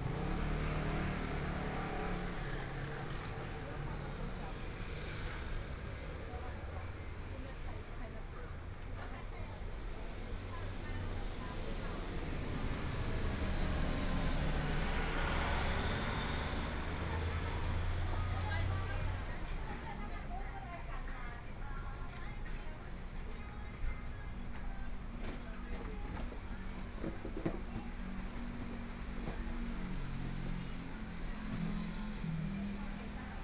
Traffic Sound 0.0 - 7.8
Various shops voices 0.0 - 33.4
Traffic Sound 9.5 - 22.2

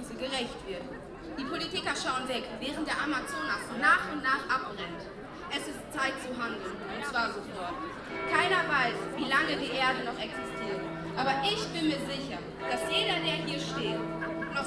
speeches 0.0 - 14.6
demonstration of a record 2000 striking pupils, friends and parents 7.9 - 14.6
noon bells of the city church 8.0 - 14.6

